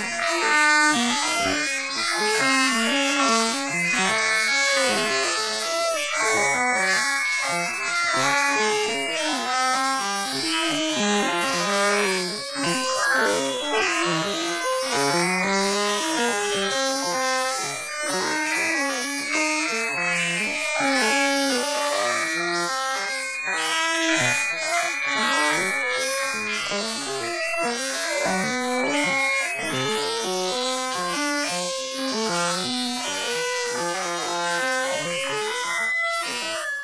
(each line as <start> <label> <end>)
12.6 Singing alien 14.3